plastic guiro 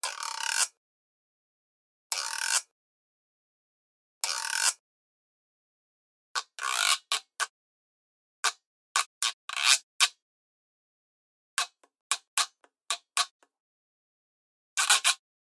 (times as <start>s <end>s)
6.4s 7.5s, 11.6s 13.4s, 14.8s 15.2s